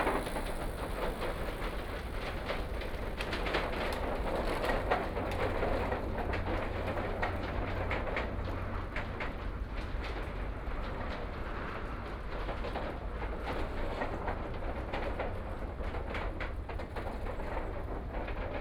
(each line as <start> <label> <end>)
0.0 MRT trains 18.6
0.0 Riding bikes on the wooden floor 18.6